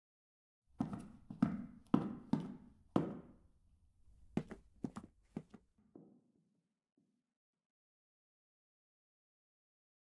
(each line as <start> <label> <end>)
0.8 Footsteps on tiles 3.4
4.3 Footsteps on tiles 6.1